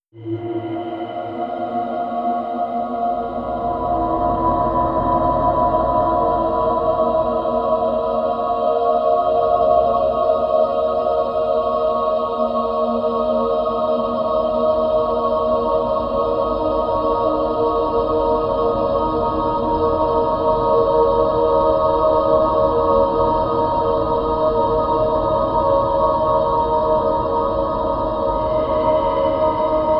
0.2s female choir with layered breath effects 29.9s

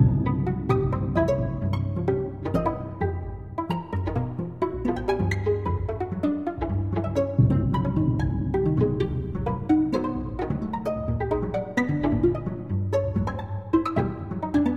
0.0s timpani 14.7s
0.0s plucked strings 14.7s

